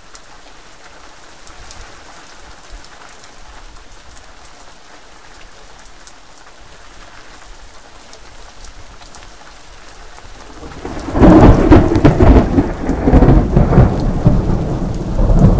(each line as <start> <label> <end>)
0.0 Heavy rain 15.5
10.5 loud overhead thunder 15.5